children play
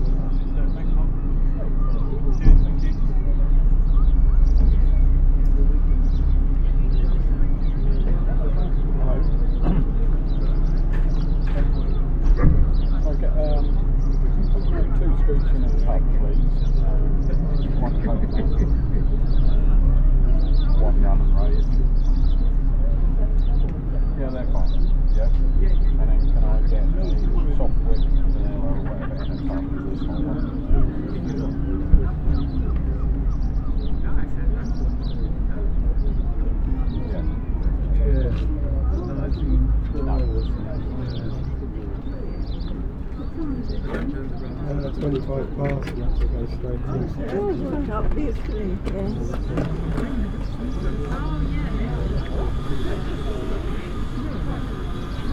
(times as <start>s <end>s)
17.0s 42.6s